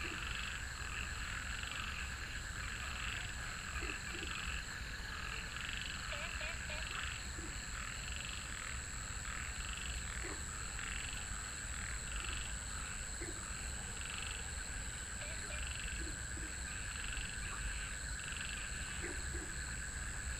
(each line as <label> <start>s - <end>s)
Frogs chirping 0.0s - 20.3s